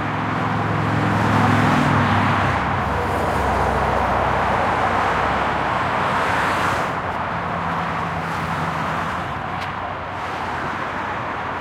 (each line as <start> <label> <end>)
0.0 Regular traffic 11.6